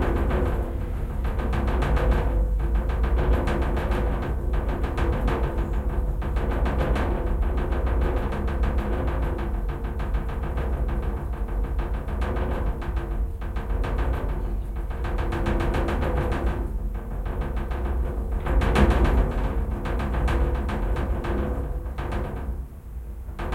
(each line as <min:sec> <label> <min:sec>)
0:00.0 glass pane, resonating, low frequence rumble, rattle 0:23.5